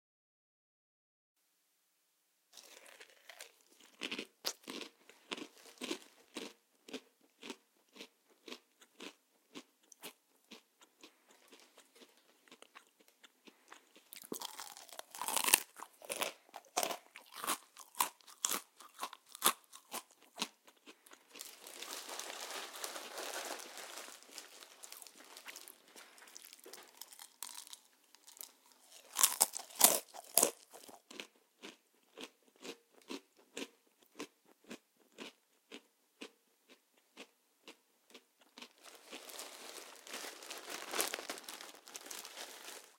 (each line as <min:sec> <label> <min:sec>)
0:02.6 Chomping/Chewing/Crunching on some cheerios 0:42.9